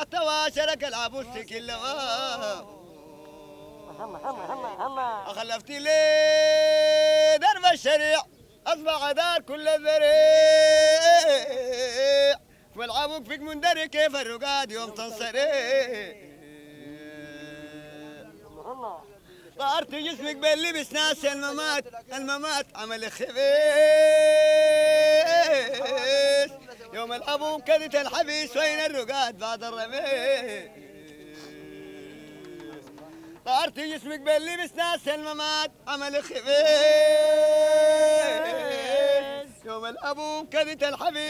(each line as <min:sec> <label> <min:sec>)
0:31.0 song before dhikr 0:34.8